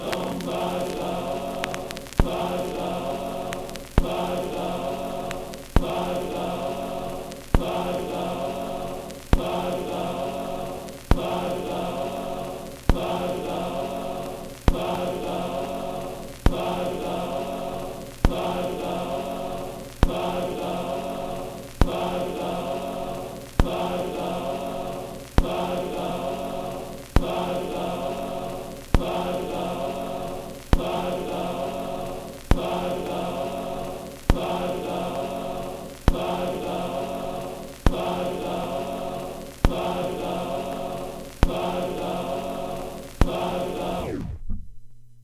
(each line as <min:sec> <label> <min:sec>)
0:00.0 Record noise 0:45.2